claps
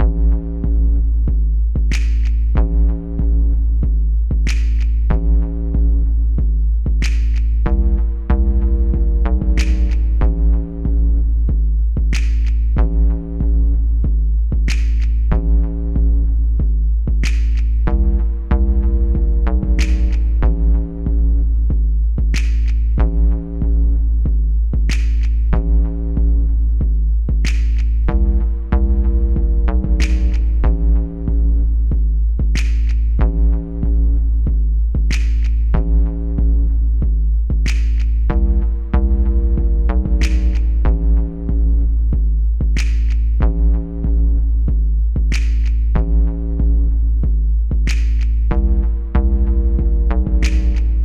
1.9s 2.6s, 4.4s 5.2s, 7.0s 7.7s, 9.5s 10.3s, 12.1s 12.8s, 14.7s 15.4s, 17.2s 17.9s, 19.6s 20.5s, 22.3s 23.0s, 24.9s 25.6s, 27.4s 28.1s, 30.0s 30.8s, 32.5s 33.2s, 35.1s 35.8s, 37.6s 38.6s, 40.0s 41.0s, 42.8s 43.5s, 45.3s 46.0s, 47.9s 48.6s, 50.3s 51.0s

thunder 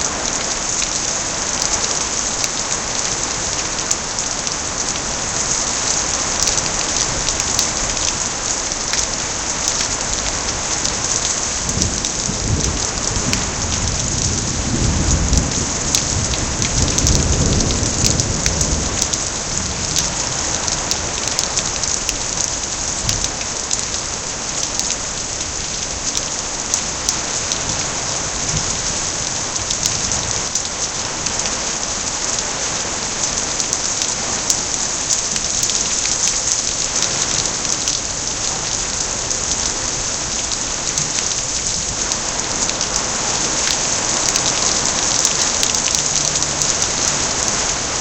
11.7s 20.5s

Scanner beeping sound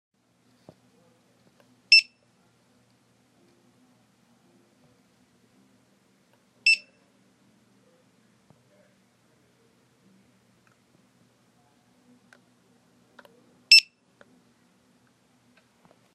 1.9s 2.2s, 6.7s 7.0s

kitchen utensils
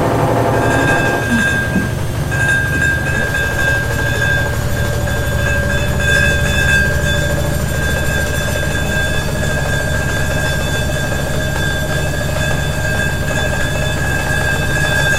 0.6s 5.7s

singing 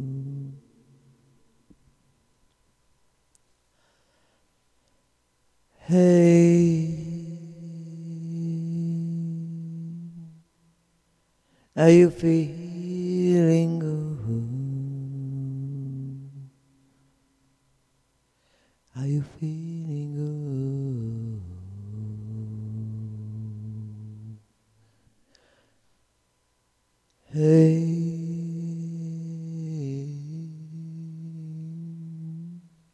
11.8s 16.6s, 18.9s 24.4s, 27.2s 32.8s

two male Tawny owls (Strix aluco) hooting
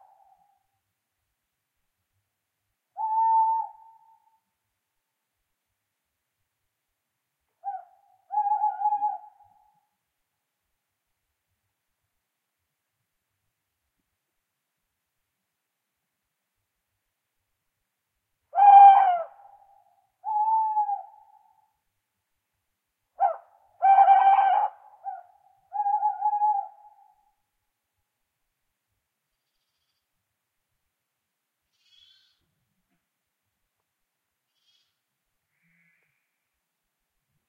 3.0s 4.4s, 7.6s 9.9s, 18.5s 21.8s, 23.2s 27.4s, 29.4s 30.1s, 31.6s 32.5s, 34.5s 36.4s

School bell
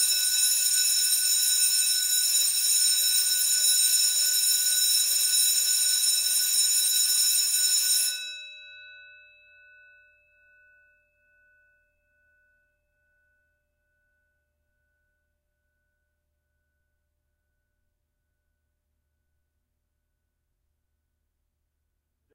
0.0s 15.5s

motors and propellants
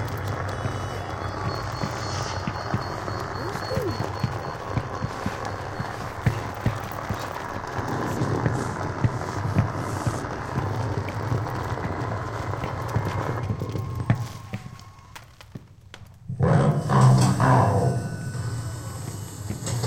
0.0s 14.5s

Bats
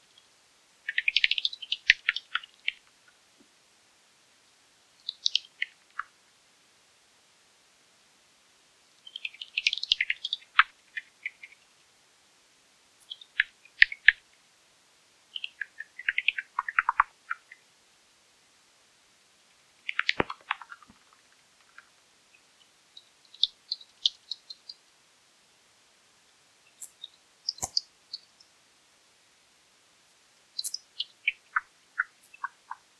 26.7s 28.5s, 30.6s 32.9s

